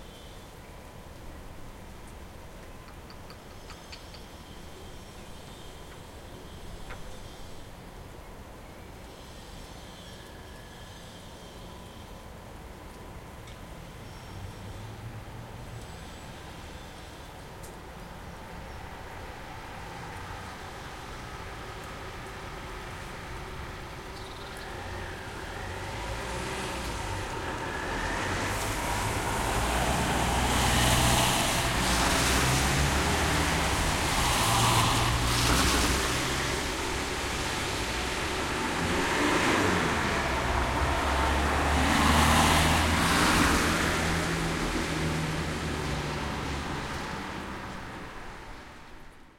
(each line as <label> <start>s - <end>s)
rain 0.0s - 3.2s
rain 4.0s - 49.3s